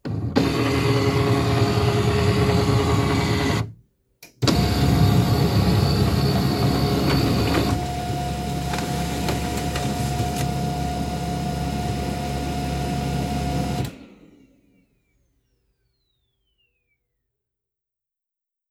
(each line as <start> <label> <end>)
0.1 printing out paper 3.7
0.1 scanner scanning copy 3.7
4.4 printing out paper 14.0
4.4 scanner scanning copy 14.0